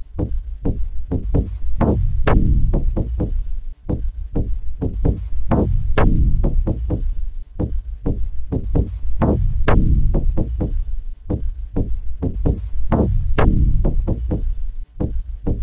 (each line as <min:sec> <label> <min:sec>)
0:00.0 Bass 0:15.6
0:00.0 Electric Drums 0:15.6